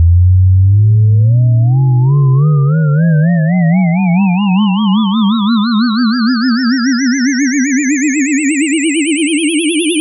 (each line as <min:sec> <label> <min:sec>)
0:05.8 tone 0:10.0